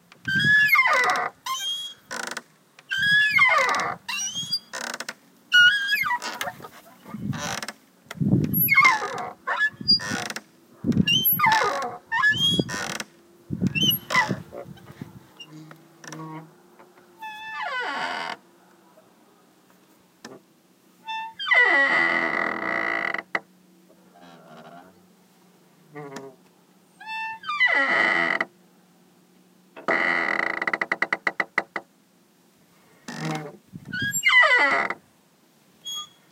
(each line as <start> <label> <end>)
0.3 Old metal swings squeaks 2.3
2.9 Old metal swings squeaks 7.6
8.5 Old metal swings squeaks 10.4
11.0 Old metal swings squeaks 13.0
13.6 Old metal swings squeaks 16.4
33.1 Old metal swings squeaks 34.9
35.8 Old metal swings squeaks 36.3